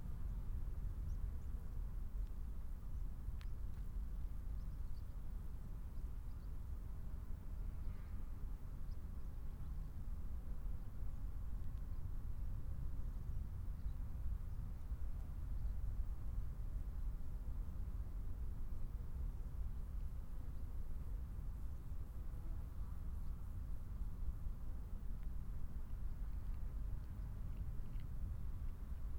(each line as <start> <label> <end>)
1.0 birds 6.7
2.9 aeroplane 16.4